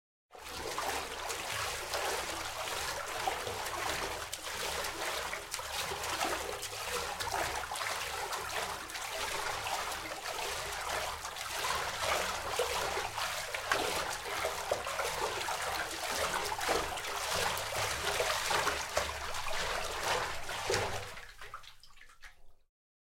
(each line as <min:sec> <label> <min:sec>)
0:00.4 Swimming - Fast 0:22.6